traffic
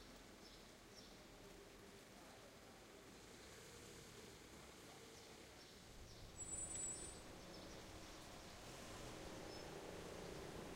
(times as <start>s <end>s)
5.9s 10.7s